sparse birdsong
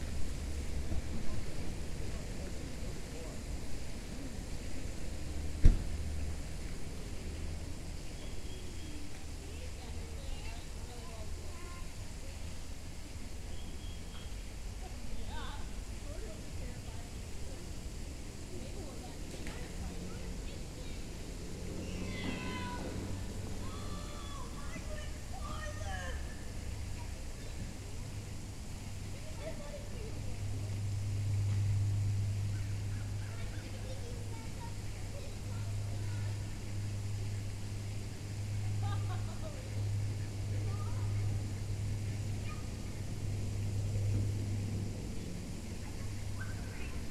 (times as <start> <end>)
8.0 9.1, 13.4 14.5, 46.4 47.1